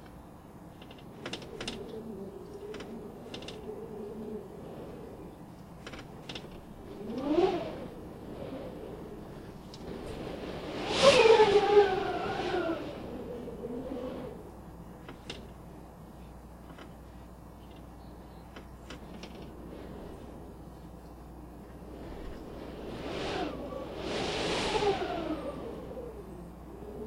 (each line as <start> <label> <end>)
0.0 creaking 20.9
0.0 Wind Cracked Window 27.0